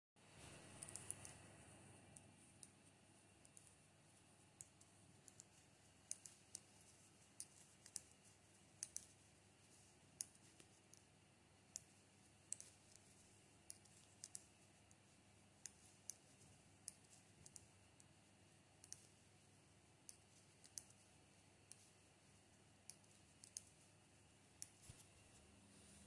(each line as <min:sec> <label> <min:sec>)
0:00.2 knitting 0:26.0